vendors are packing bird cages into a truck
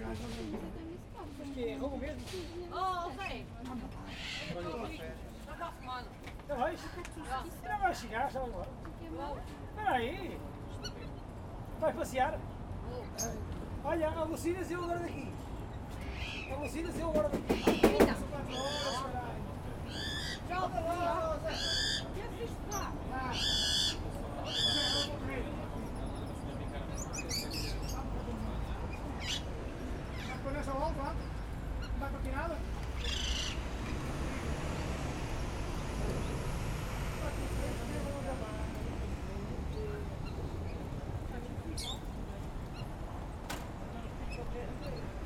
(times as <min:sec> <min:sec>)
0:00.0 0:03.1, 0:13.2 0:45.2